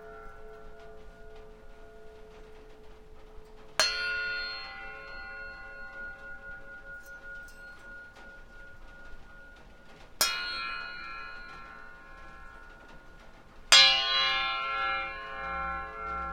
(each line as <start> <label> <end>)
0.0 metal bar on a string 16.3